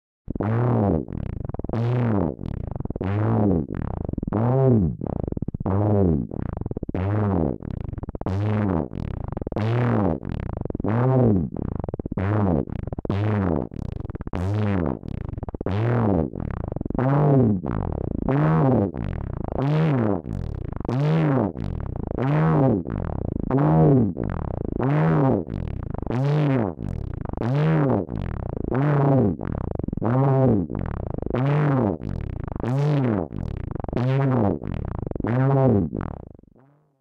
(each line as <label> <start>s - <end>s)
long strange sounds and sequences 17.6s - 36.4s